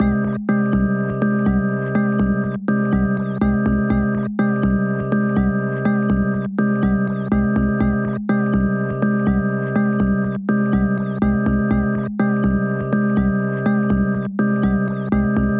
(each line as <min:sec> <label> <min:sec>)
0:00.0 Melody birds 0:15.5